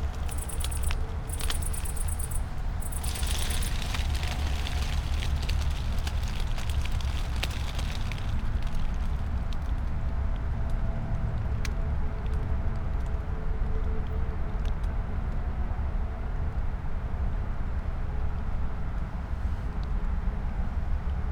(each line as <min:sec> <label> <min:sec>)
0:00.0 cicada on acacia tree 0:08.3
0:00.0 dry poplar leaves and branches 0:10.0